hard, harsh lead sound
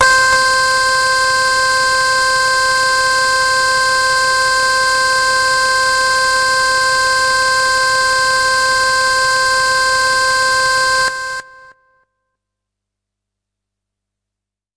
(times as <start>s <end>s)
0.0s 11.7s